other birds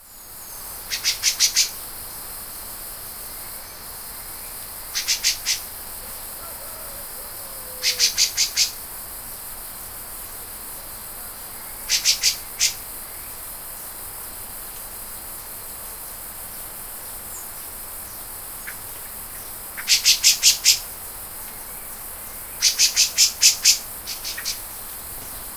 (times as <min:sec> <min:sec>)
0:05.0 0:08.8